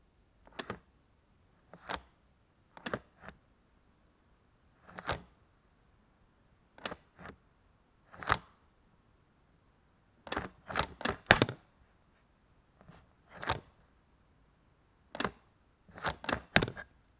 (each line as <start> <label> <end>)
0.5 Clicking and snapping sounds of a small suitcase lock 0.9
2.8 Clicking and snapping sounds of a small suitcase lock 3.4
4.9 Clicking and snapping sounds of a small suitcase lock 5.4
6.8 Clicking and snapping sounds of a small suitcase lock 7.4
8.2 Clicking and snapping sounds of a small suitcase lock 8.5
10.3 Clicking and snapping sounds of a small suitcase lock 11.6
13.4 Clicking and snapping sounds of a small suitcase lock 13.8
15.2 Clicking and snapping sounds of a small suitcase lock 16.9